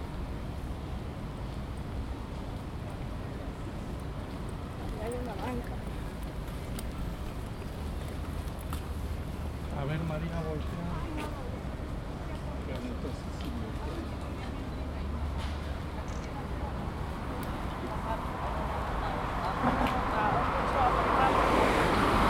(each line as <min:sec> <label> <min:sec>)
0:00.0 occasional traffic 0:22.2
0:02.2 Tourists 0:22.2